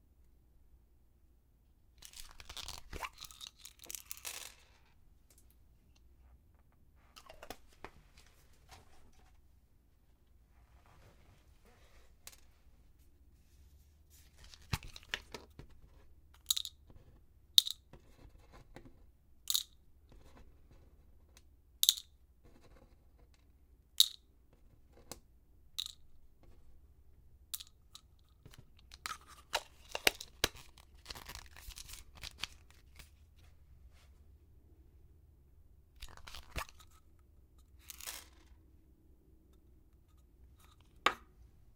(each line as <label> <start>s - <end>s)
picking up the pills 2.0s - 8.3s
Little pills splay out onto a wooden desk 2.1s - 4.9s
picking up the pills 16.4s - 16.8s
picking up the pills 21.8s - 22.2s
picking up the pills 25.0s - 26.8s
picking up the pills 27.5s - 33.5s
picking up the pills 36.0s - 38.7s